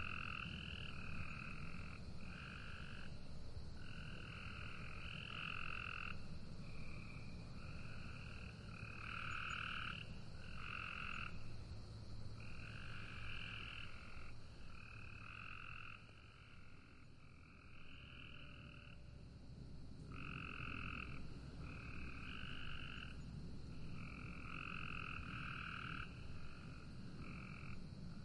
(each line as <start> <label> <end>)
0.0 Cicadas 28.2
0.0 Frogs 28.2